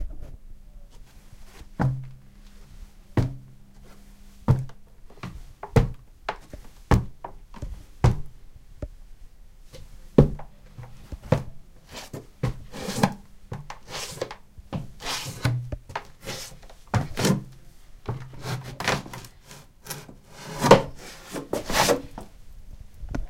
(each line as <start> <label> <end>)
0.9 feet scrape stairs 8.4
9.7 feet scrape stairs 22.4